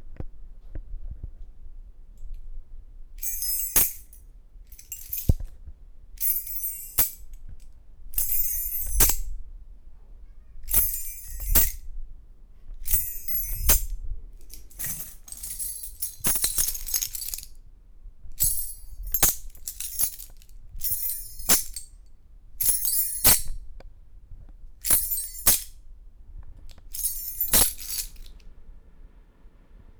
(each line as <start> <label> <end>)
3.2 keyrings thrown in air and grabbed back 5.5
6.2 keyrings thrown in air and grabbed back 7.4
8.2 keyrings thrown in air and grabbed back 9.3
10.7 keyrings thrown in air and grabbed back 11.8
12.8 keyrings thrown in air and grabbed back 17.6
18.4 keyrings thrown in air and grabbed back 22.0
22.6 keyrings thrown in air and grabbed back 23.6
24.8 keyrings thrown in air and grabbed back 25.8
26.7 keyrings thrown in air and grabbed back 28.4